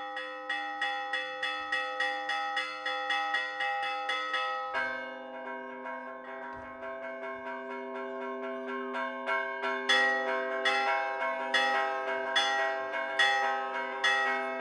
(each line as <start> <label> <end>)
0.0 church bell calling the people to the religious event 14.6
0.0 people gathered near the church 14.6